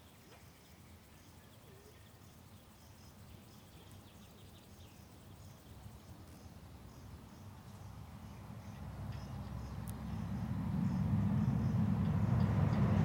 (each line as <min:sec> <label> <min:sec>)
0:00.0 grasshoppers 0:13.0
0:07.8 passing cars 0:13.0